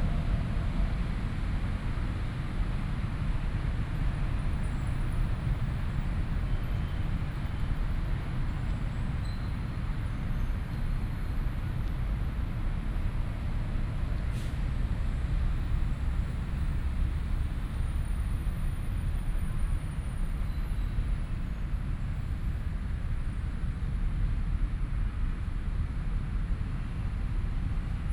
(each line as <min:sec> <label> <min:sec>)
0:00.0 traffic sound 0:28.1